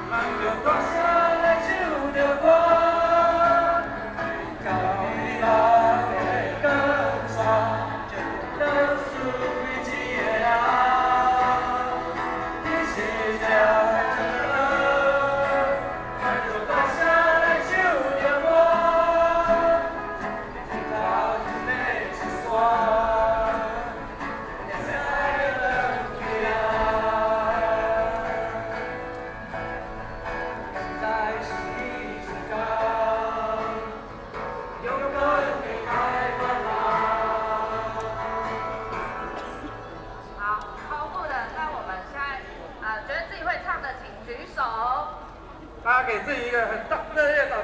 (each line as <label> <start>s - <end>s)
Rock Band songs 0.0s - 40.8s
Students and the public 0.0s - 47.6s